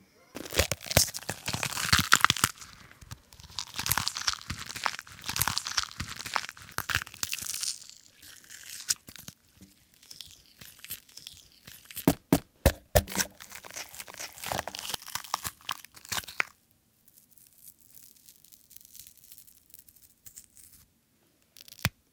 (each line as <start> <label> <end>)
0.4 Bones and flesh tearing 16.6
0.4 snapping 16.6
0.4 stabbing 16.6
0.4 crunch 22.0
21.6 Bones and flesh tearing 21.9